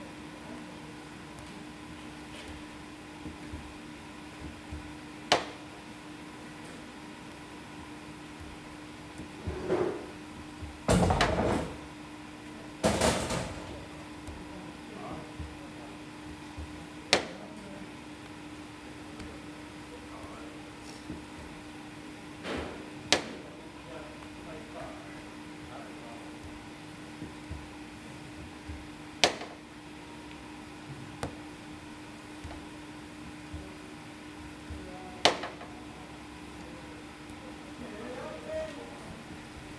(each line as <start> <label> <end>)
0.0 Baker kneading the dough 39.7